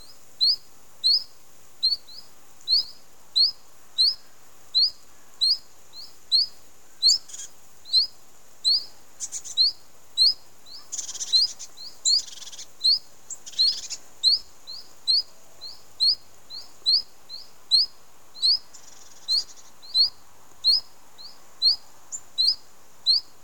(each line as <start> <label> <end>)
0.0 Birdsong 23.4